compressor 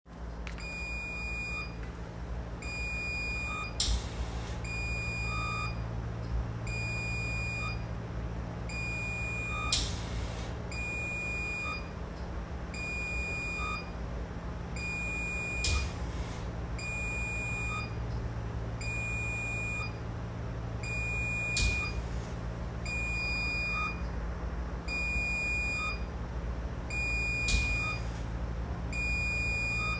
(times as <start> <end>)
2.6 5.8, 8.7 11.7, 14.8 18.2, 20.8 24.0, 26.9 29.9